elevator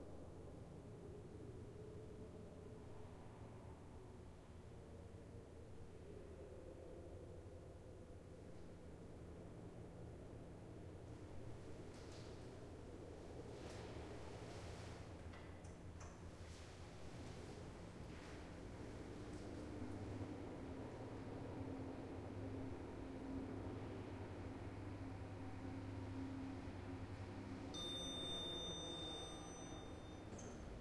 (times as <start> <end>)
25.8 30.8